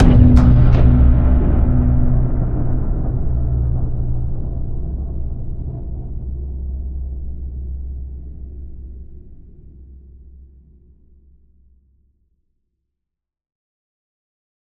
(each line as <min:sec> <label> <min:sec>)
0:00.0 Impact 0:05.6
0:00.0 rumble 0:11.8